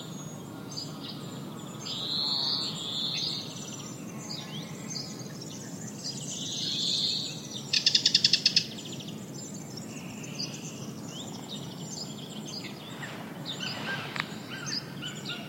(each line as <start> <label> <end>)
0.0 Lots of birds 15.4
0.0 insects 15.4
12.6 cuckoo 15.4